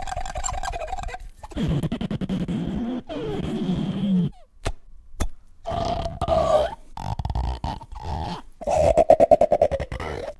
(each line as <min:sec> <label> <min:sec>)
0:00.0 cup 0:01.2
0:00.0 squirt 0:01.8
0:05.7 sucking 0:10.3
0:05.9 rubber band 0:09.0